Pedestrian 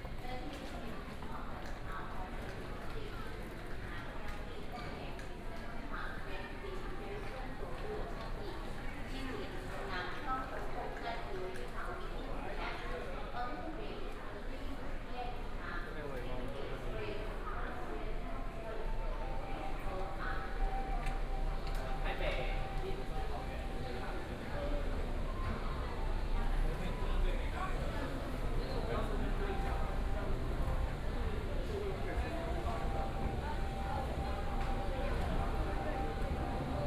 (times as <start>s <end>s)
18.8s 36.8s